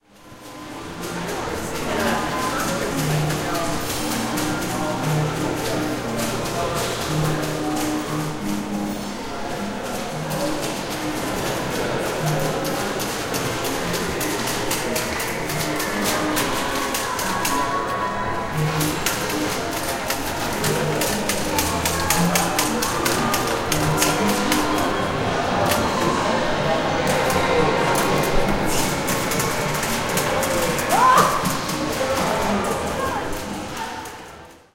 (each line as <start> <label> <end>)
0.0 people 34.7